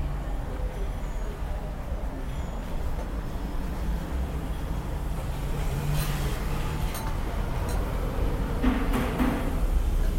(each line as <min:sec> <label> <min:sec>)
0:00.0 traffic 0:10.1